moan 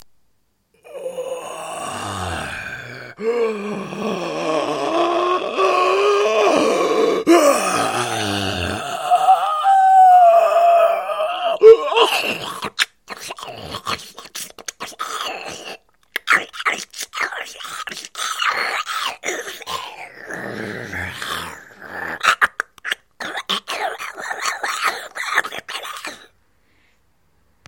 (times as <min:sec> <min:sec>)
0:00.8 0:12.8, 0:18.5 0:22.2